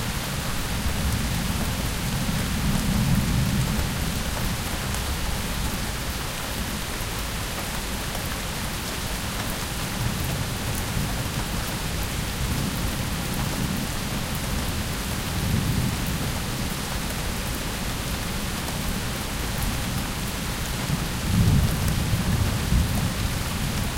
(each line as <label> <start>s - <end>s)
Rain 0.0s - 23.9s